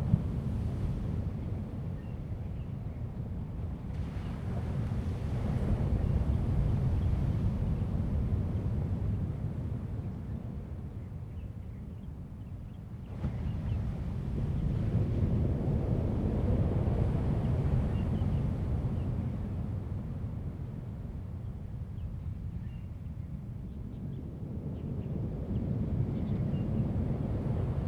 3.2s waves 10.9s
12.9s waves 21.9s

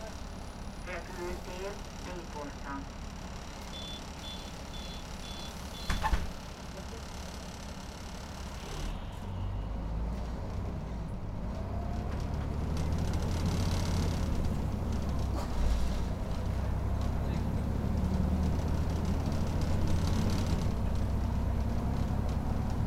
0.0s Bus Ride 22.8s

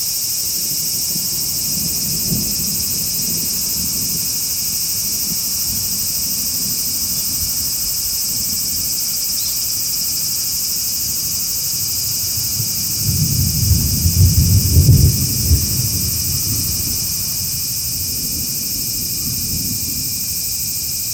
0.0s Cicadas 21.1s
0.6s thunder 9.0s
10.8s raining very lightly 21.1s
12.1s thunder 21.1s

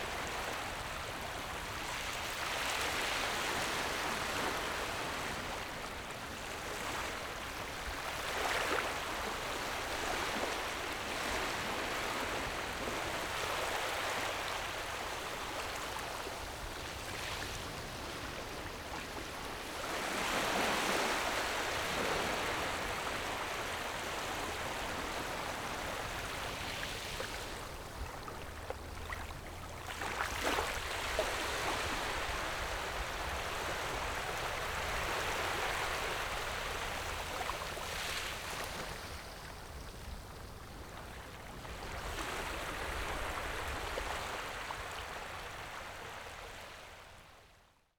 0.0s waves 47.8s

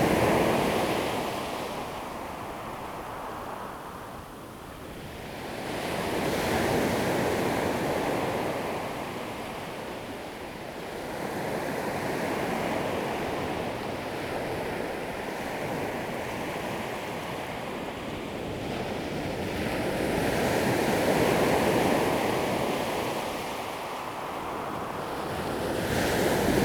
25.2s waves 26.6s

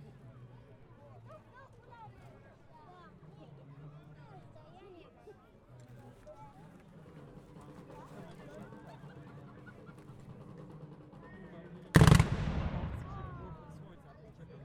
12.0s Battle 13.8s

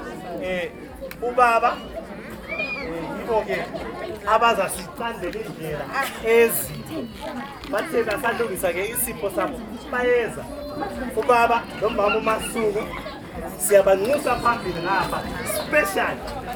0.0s announcements of the event’s master of ceremony 16.5s

